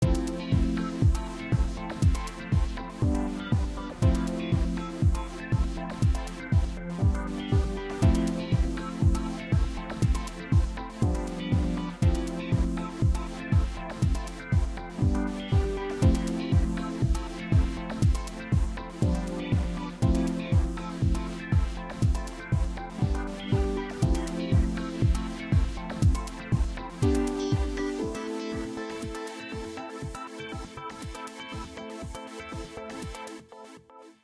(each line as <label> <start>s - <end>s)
music 0.0s - 34.2s